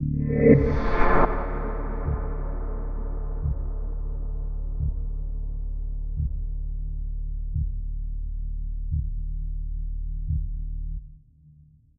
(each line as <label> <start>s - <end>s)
drone 0.0s - 7.3s